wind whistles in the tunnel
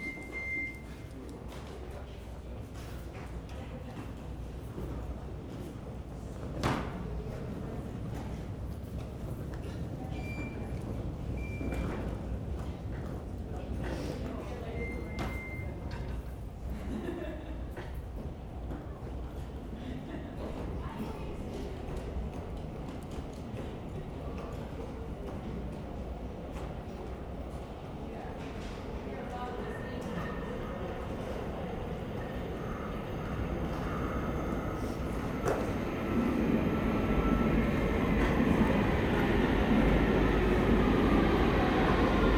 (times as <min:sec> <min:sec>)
0:29.7 0:42.3